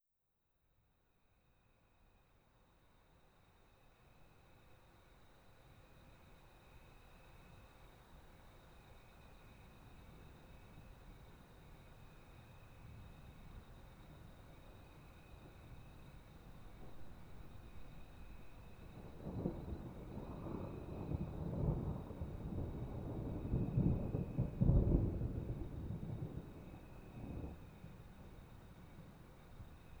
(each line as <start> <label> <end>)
13.8 insect sounds 30.0
16.7 thunders 28.0